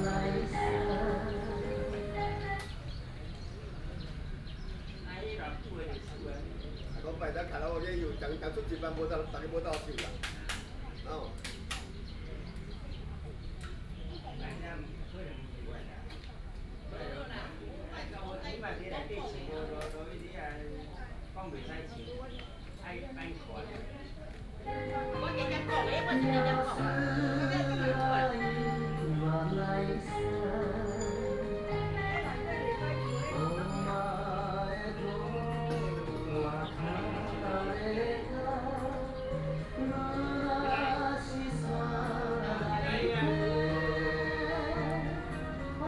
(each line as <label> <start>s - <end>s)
old people are learning to sing Japanese songs 0.0s - 4.3s
birds sound 0.0s - 17.3s
birds sound 20.2s - 42.4s
old people are learning to sing Japanese songs 23.5s - 45.8s